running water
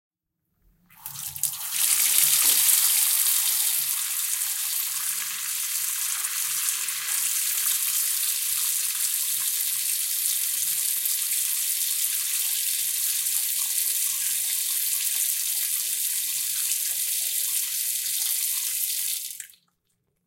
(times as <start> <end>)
1.0 11.0